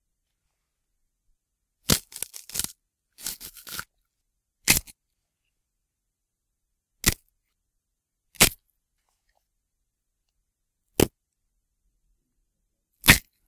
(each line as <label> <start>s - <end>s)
celery snapping 1.9s - 2.7s